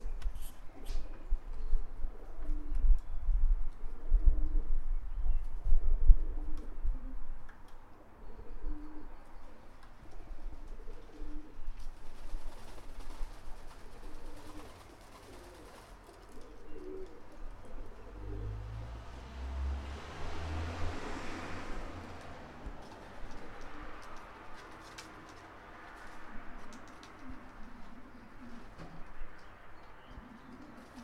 pigeons ruffling their wings 9.8 - 17.5
pigeons ruffling their wings 22.2 - 28.8
pigeons ruffling their wings 30.5 - 31.0

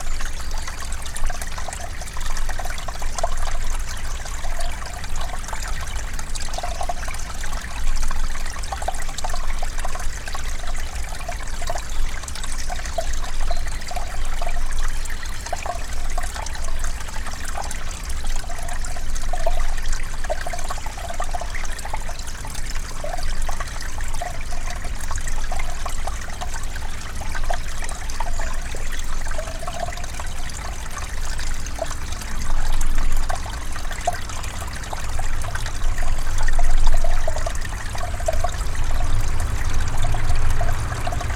car passing nearby 37.6 - 41.3

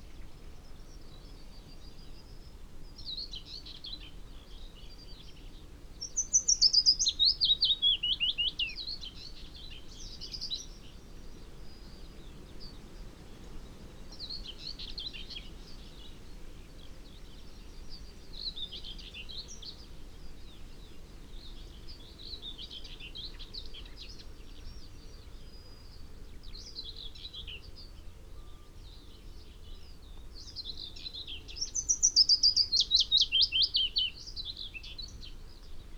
Willow warbler song 0.0 - 35.9
background noise 0.0 - 35.9

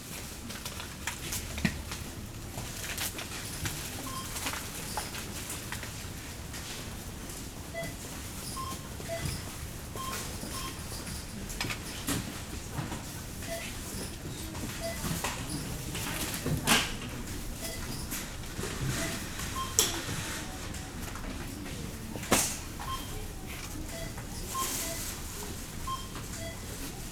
people looking for special offers 8.6 - 27.1

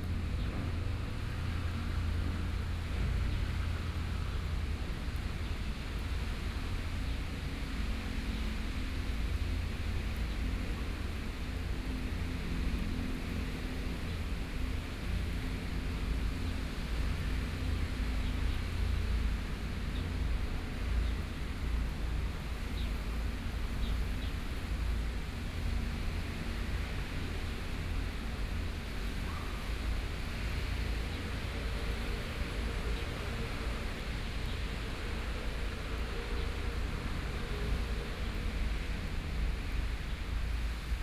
Rainy Day 0.0 - 41.0

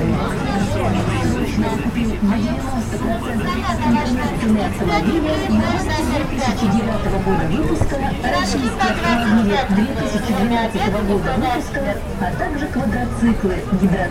conversations 0.0 - 14.1
music coming from speakers mounted outside stores 0.0 - 14.1
traffic noise 0.0 - 14.1

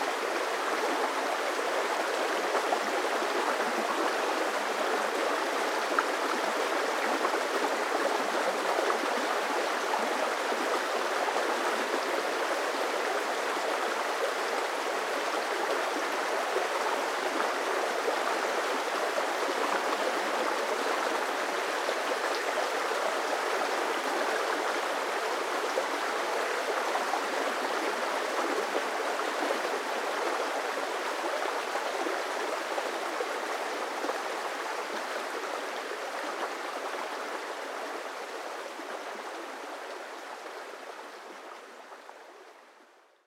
River 0.0 - 43.2

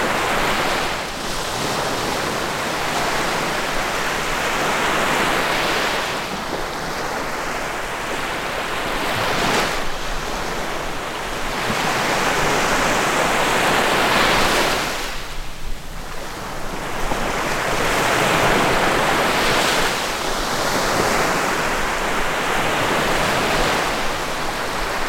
Little waves in front on the sea 0.0 - 25.0

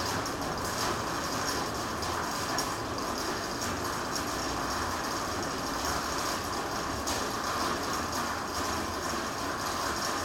rain hitting the metalic roof 0.0 - 10.2

